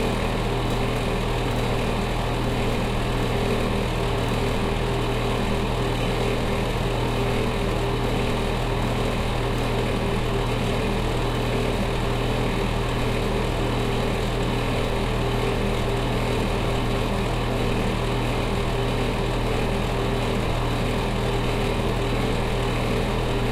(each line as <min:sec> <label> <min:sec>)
0:00.0 Roaring Bathroom Fan 0:23.5